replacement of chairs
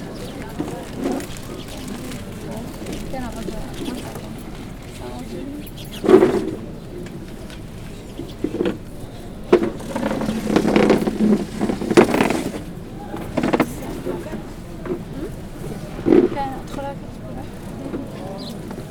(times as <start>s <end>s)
6.0s 16.5s